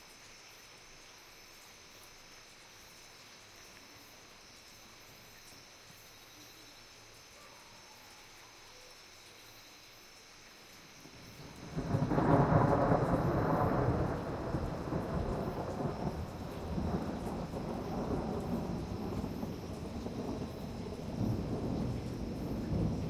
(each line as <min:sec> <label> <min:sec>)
0:00.0 insects 0:23.0
0:00.0 water 0:23.0
0:11.3 Dry rolling thunder 0:23.0